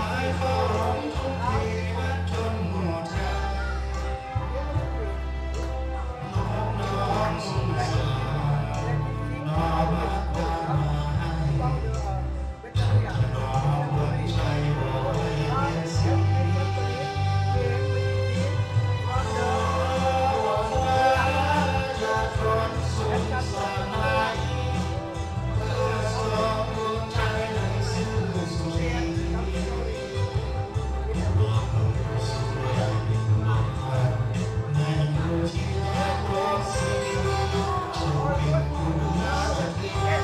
Kara-oke Lao style 0.0 - 40.2

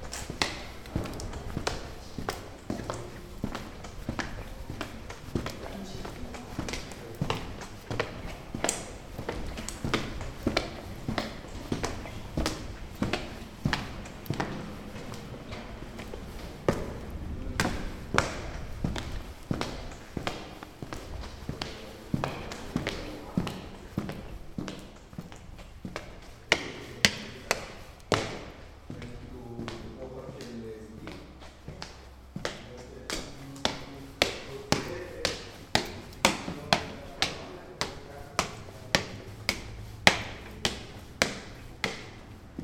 Footsteps 0.0 - 42.6

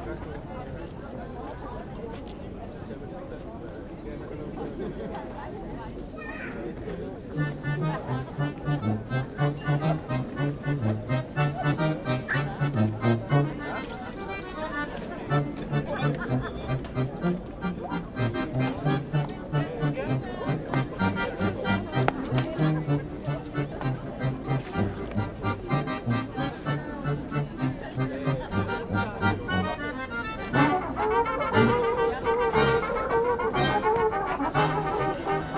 balkan brass band 7.4 - 13.8
balkan brass band 15.3 - 35.5

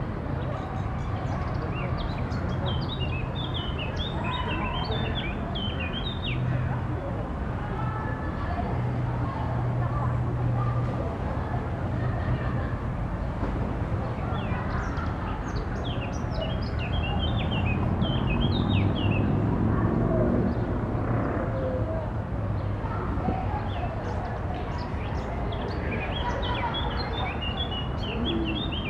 Birds 0.0 - 6.7
Birds 12.2 - 28.8

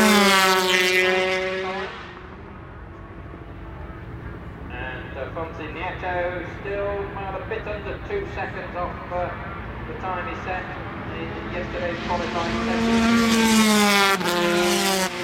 commentary 4.6 - 13.9

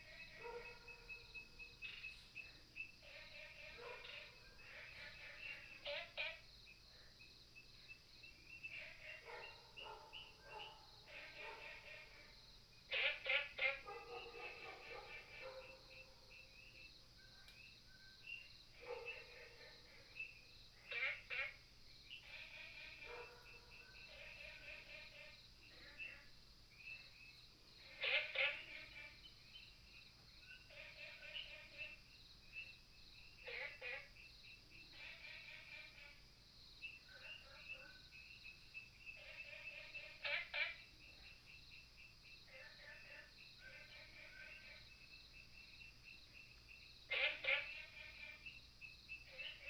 Frogs sound 0.0 - 49.6

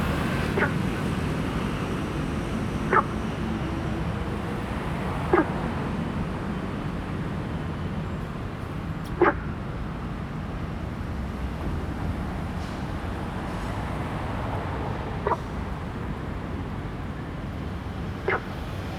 Traffic Sound 0.0 - 18.9
Frog sound 2.9 - 3.1
Frog sound 9.2 - 9.4
Frog sound 18.2 - 18.6

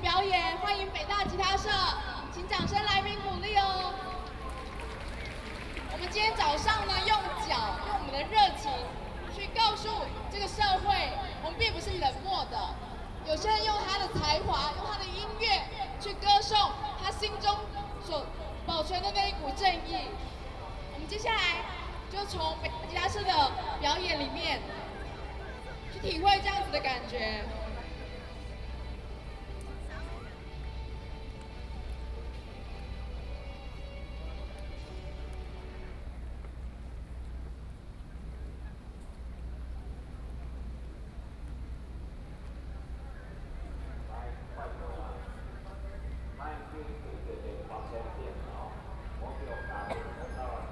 speech 5.9 - 20.2
speech 42.6 - 50.7

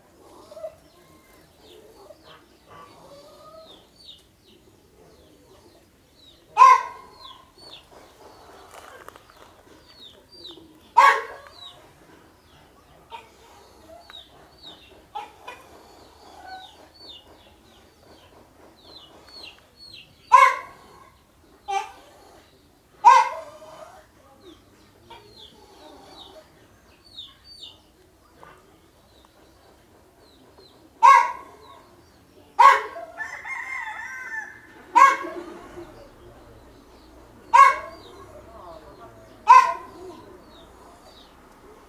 hen with her kids in the grass 0.0 - 41.8

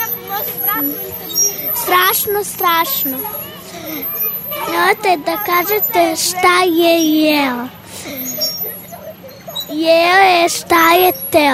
Children's poem 4.6 - 7.8

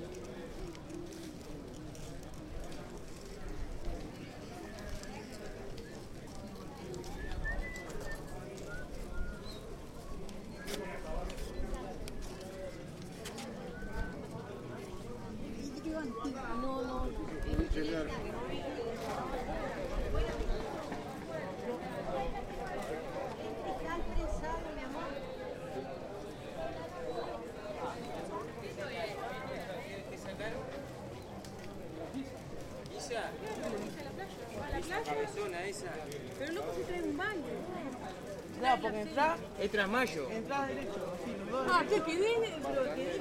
market is getting crowded and busy 0.0 - 43.2

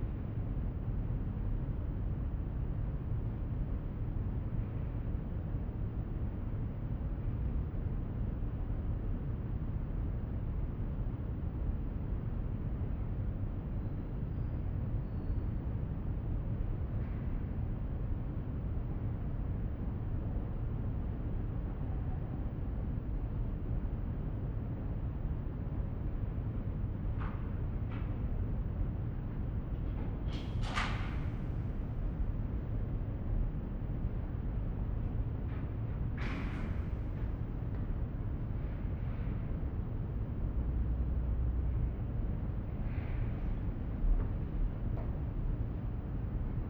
steps inside the hall 26.0 - 46.6

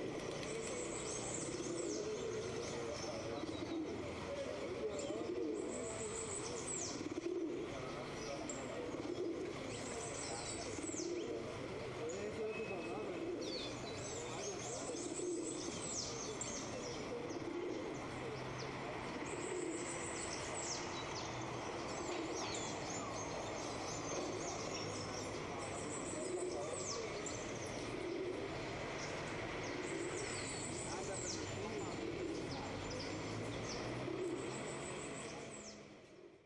birds 0.0 - 36.4
pigeons 0.0 - 36.4
slight traffic 0.0 - 36.4
people talking 1.7 - 21.1
people talking 21.9 - 28.5
people talking 29.8 - 35.8

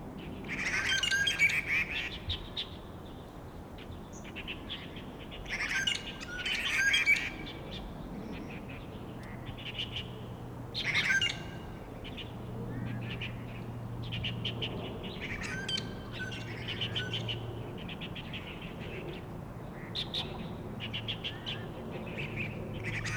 Traffic Sound 9.0 - 23.1
Bird calls 10.8 - 23.1

